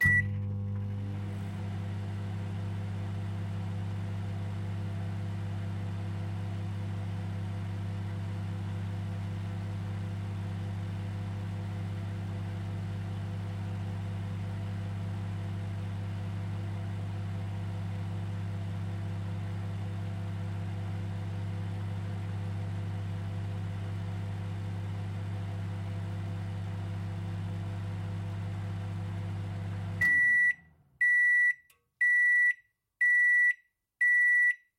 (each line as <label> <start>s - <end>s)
microwave beeping 0.0s - 1.1s
microwave beeping, starting and stopping 0.0s - 1.3s
microwave beeping, starting and stopping 29.8s - 34.6s
microwave beeping 30.0s - 34.6s